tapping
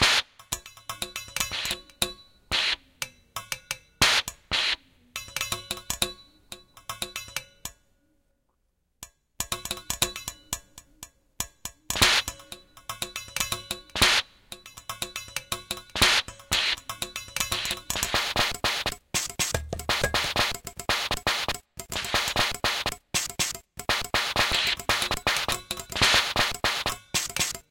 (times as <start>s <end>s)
9.0s 27.7s